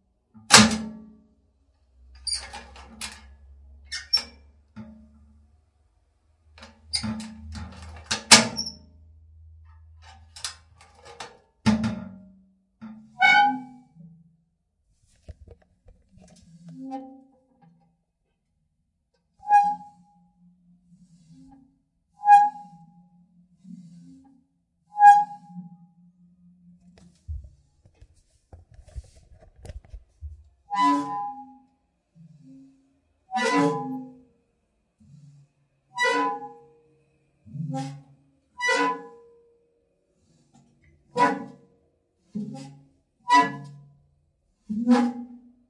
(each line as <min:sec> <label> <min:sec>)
0:00.5 metal safe deposit box lock and unlock various 0:00.9
0:02.2 metal safe deposit box lock and unlock various 0:03.3
0:06.6 metal safe deposit box lock and unlock various 0:08.8